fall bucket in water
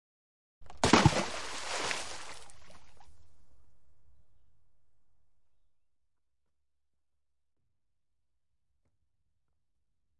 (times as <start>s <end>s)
0.7s 3.0s